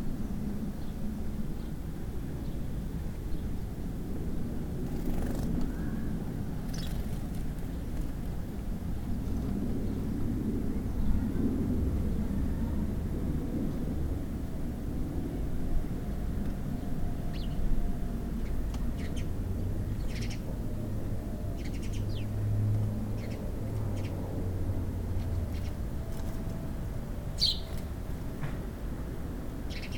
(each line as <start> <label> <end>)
4.9 sparrow singing 8.0
16.8 sparrow singing 17.7
18.4 sparrow singing 19.3
19.9 sparrow singing 20.5
21.4 sparrow singing 22.4
23.1 sparrow singing 24.2
25.2 sparrow singing 26.5
27.2 sparrow singing 28.0
29.6 sparrow singing 29.9